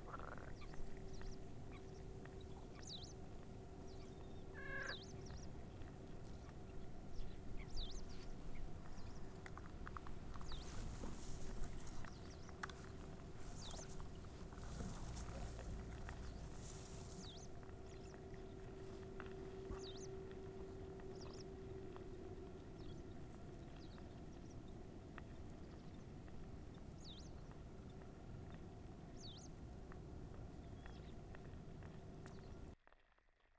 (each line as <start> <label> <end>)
0.0 frogs chorus 5.7